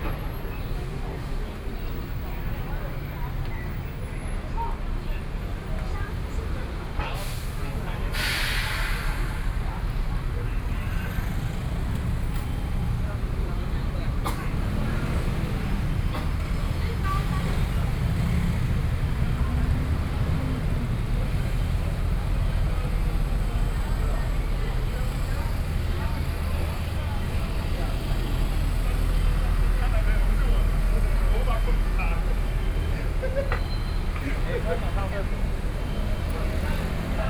Traffic Noise 0:00.0 - 0:37.2
Walking in the street 0:00.0 - 0:37.2

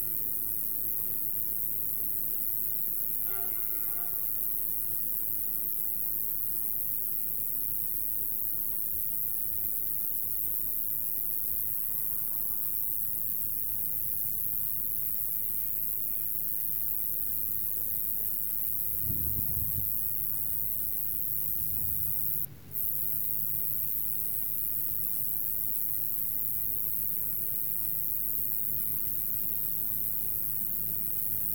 long sustain chirp 0:03.2 - 0:04.8

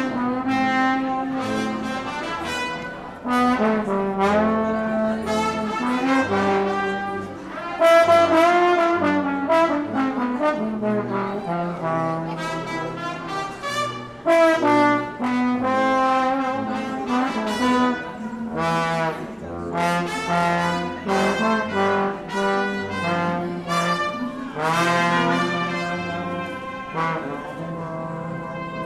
musicians at the opposite platform 0:00.0 - 0:28.8
people enjoy it 0:00.0 - 0:28.8
trombone 0:00.0 - 0:28.8

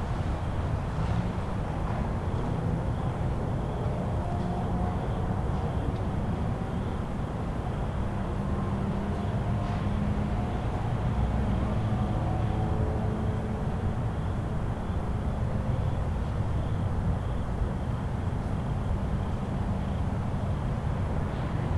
traffic sounds 0:00.0 - 0:21.7
crickets 0:00.0 - 0:21.7

